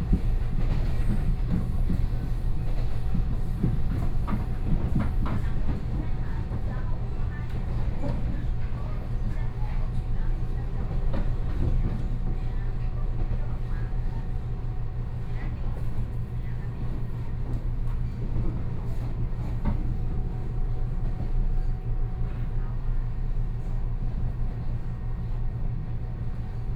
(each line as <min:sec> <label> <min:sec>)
0:00.0 Inside the train 0:26.7